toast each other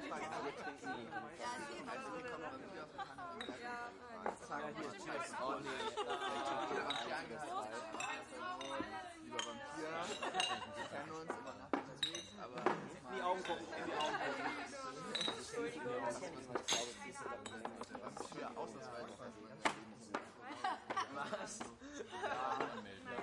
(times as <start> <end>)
6.4 12.4